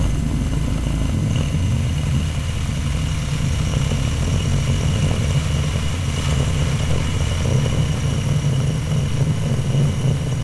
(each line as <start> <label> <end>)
0.0 rocket engine 10.4